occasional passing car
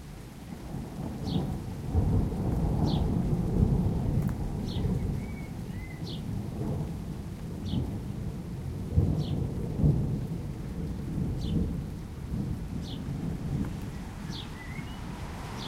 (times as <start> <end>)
13.7 15.6